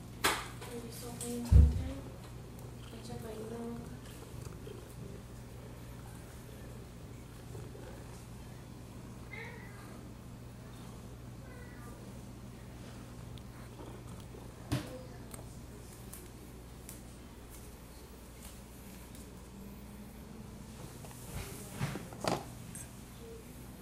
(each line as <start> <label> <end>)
9.3 cat 10.0
11.4 cat 12.0